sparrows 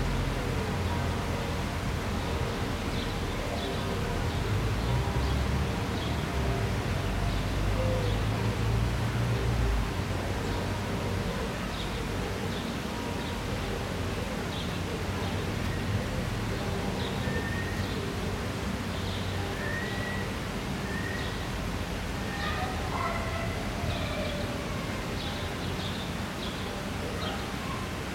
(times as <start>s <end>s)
25.2s 27.9s